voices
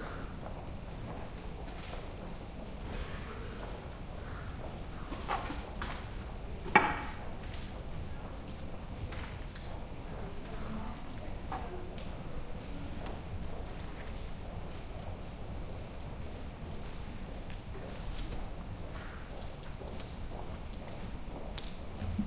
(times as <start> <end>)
9.8 15.1